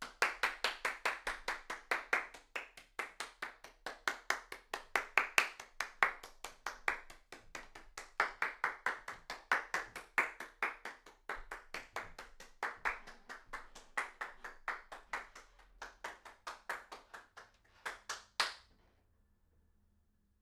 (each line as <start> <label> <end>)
0.0 Applause walking around room 18.6